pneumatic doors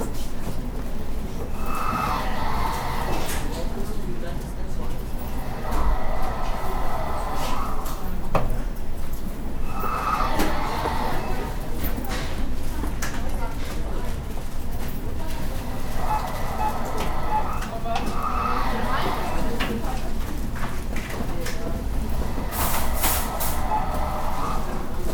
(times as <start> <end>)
1.2 3.9, 5.0 12.4, 15.2 20.1, 22.0 25.1